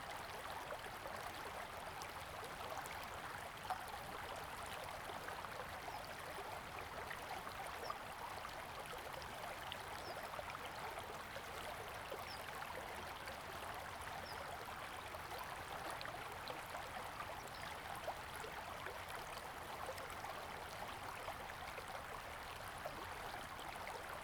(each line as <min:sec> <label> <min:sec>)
0:00.0 stream 0:24.2